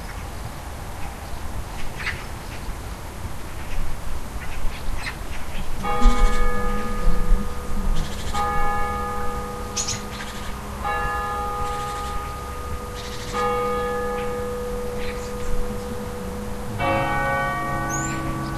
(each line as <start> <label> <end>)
0.0 Birds in the distance 18.5
0.0 street noise very far away 18.5
5.8 church bell 18.5